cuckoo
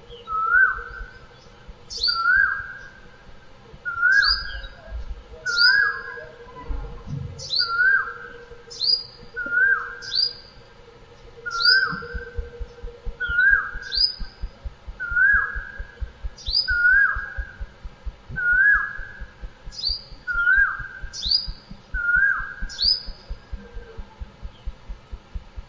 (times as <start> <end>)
0.0 1.3, 1.9 17.7